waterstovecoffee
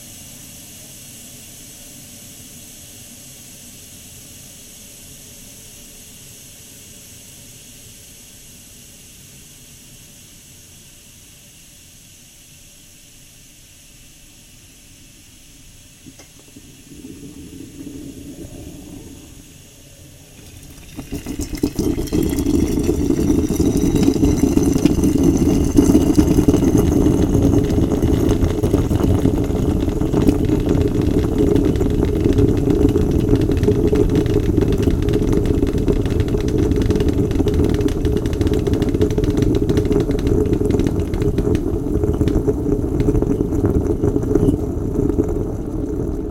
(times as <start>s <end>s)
15.8s 46.3s